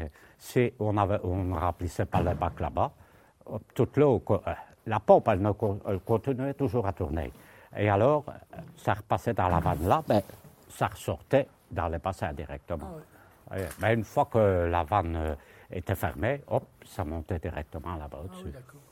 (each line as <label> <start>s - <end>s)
old worker testimony 0.0s - 18.9s